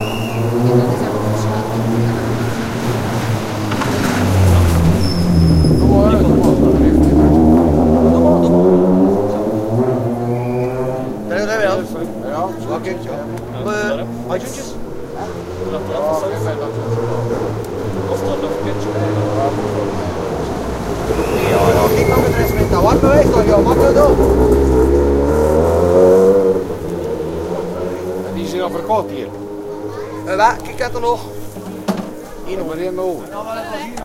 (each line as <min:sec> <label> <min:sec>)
0:00.0 rally cars driving from the regroup podium 0:34.0